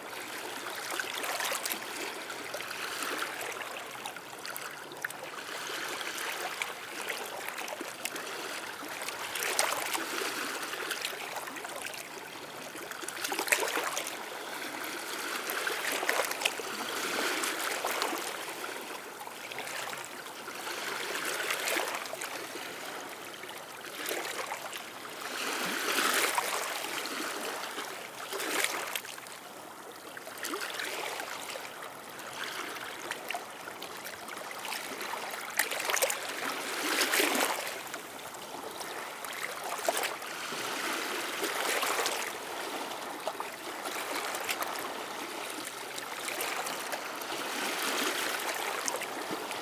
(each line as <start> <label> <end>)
0.0 sea 49.6